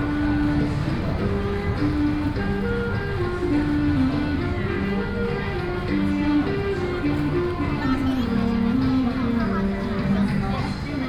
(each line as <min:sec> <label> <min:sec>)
0:00.0 Walking on the road 0:11.0